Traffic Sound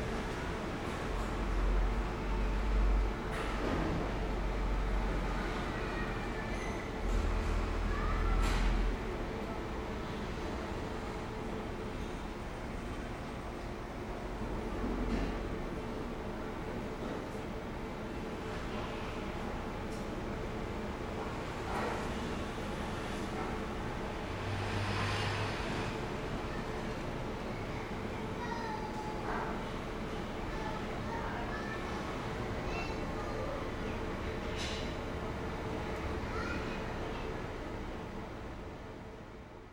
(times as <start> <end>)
24.1 26.5